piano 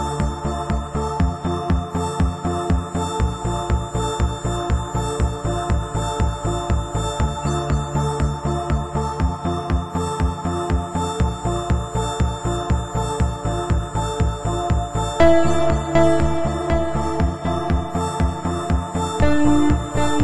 15.2 20.2

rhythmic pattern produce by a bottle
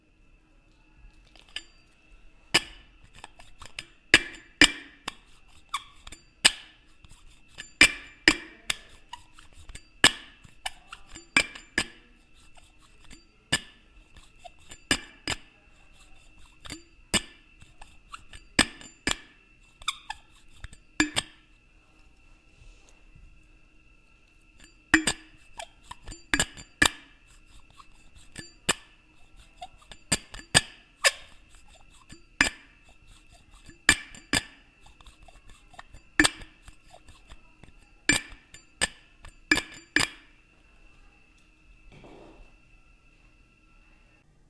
2.5 21.6, 24.5 40.4

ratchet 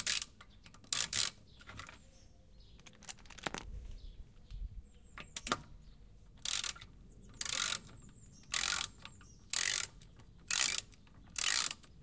6.4 7.9, 8.5 11.9

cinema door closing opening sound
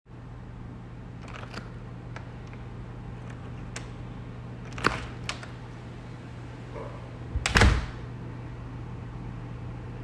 4.7 5.6, 7.3 8.0

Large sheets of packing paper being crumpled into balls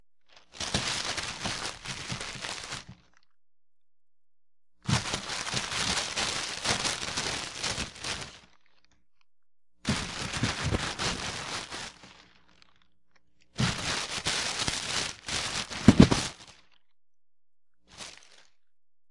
0.3 3.1, 4.9 8.6, 9.9 12.7, 13.6 16.7, 17.9 18.6

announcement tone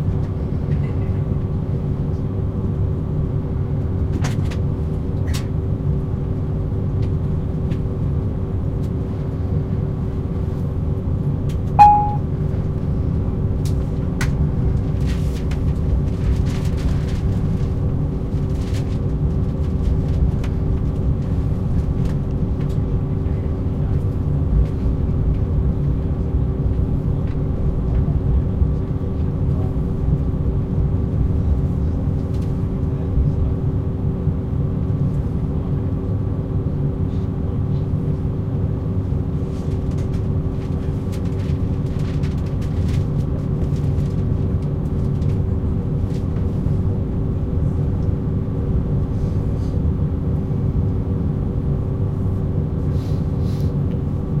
11.8 12.2

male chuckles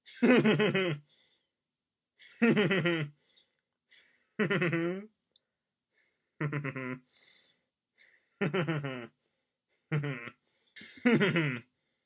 2.4 3.1, 4.4 5.1, 6.4 7.0, 8.4 9.1, 9.9 11.6

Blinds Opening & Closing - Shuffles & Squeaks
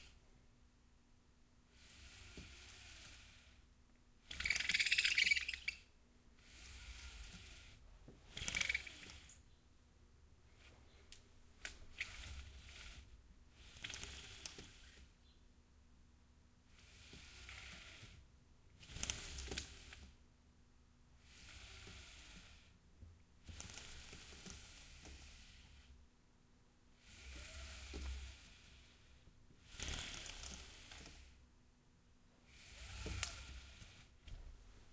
4.3 9.5, 11.8 15.1, 18.8 20.0, 23.4 25.9, 27.0 29.0, 29.6 31.4, 32.5 34.2

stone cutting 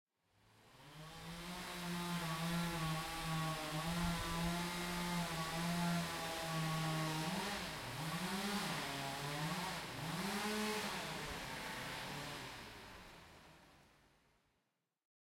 1.1 12.4

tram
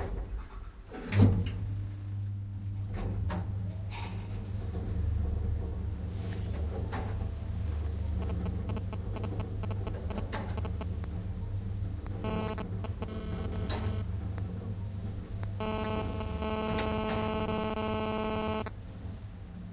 2.7 8.3

